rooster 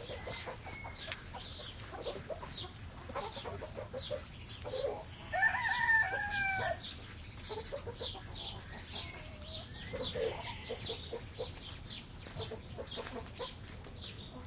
0.0s 1.4s, 4.7s 6.8s, 7.6s 11.5s

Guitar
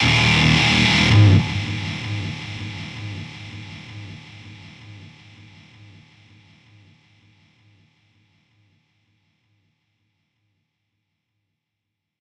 0.0s 6.0s

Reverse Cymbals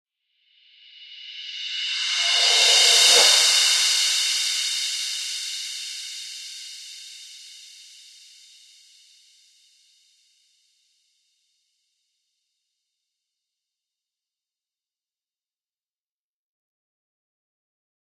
1.2s 6.7s

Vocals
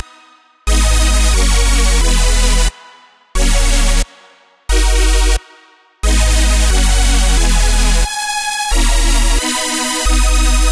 0.0s 3.1s

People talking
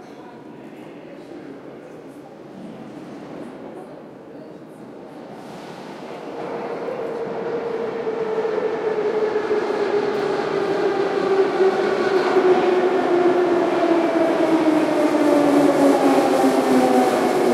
0.0s 5.4s

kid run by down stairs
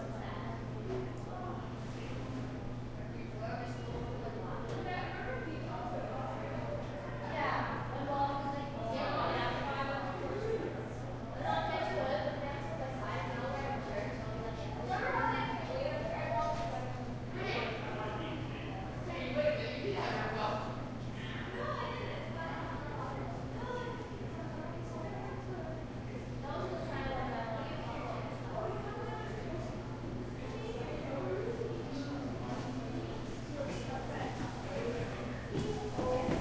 35.5s 36.4s

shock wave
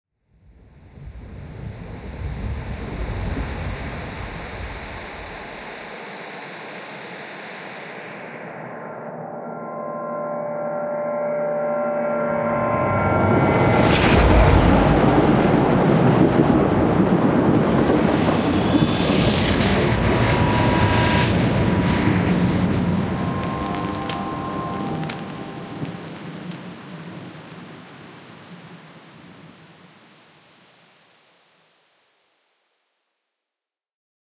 12.2s 26.6s

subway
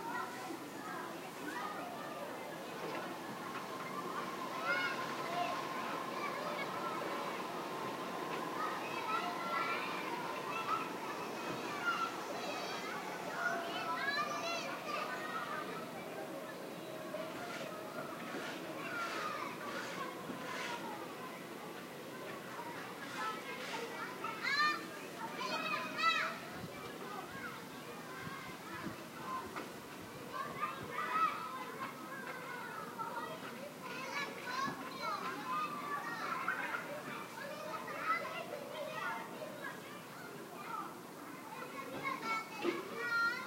2.0s 17.4s

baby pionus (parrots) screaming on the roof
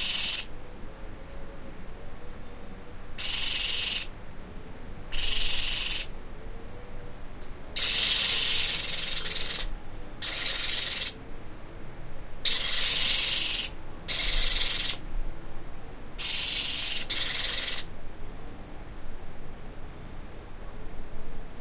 0.0s 0.7s, 2.6s 4.1s, 5.1s 6.1s, 7.8s 11.2s, 12.4s 15.0s, 16.2s 17.9s

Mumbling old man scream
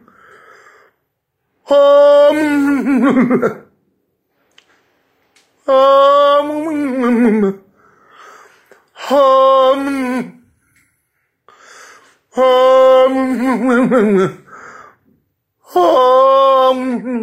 1.6s 3.5s, 5.7s 7.6s, 9.0s 10.4s, 12.3s 14.4s, 15.7s 17.2s

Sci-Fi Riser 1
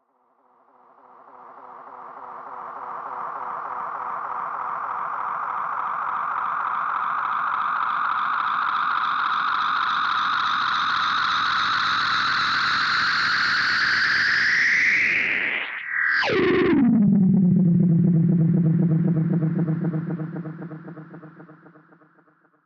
16.1s 22.2s

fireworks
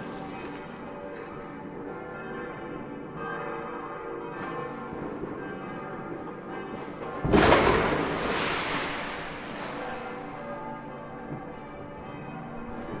7.2s 10.0s

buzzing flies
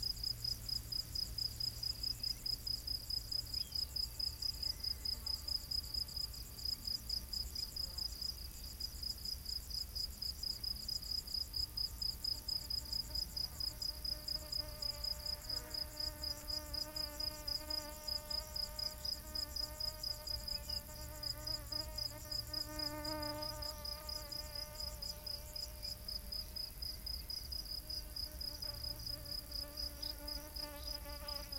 14.1s 25.8s, 28.3s 31.5s

